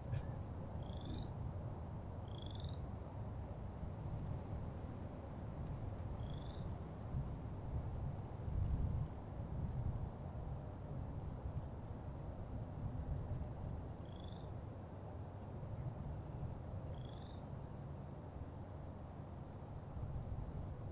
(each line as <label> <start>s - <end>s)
frog 0.1s - 1.3s
frog 2.2s - 2.8s
frog 14.0s - 14.5s
frog 16.9s - 17.4s